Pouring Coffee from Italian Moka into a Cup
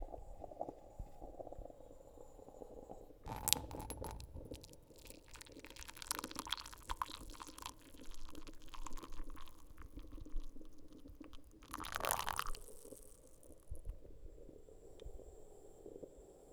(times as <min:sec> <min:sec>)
0:03.3 0:13.9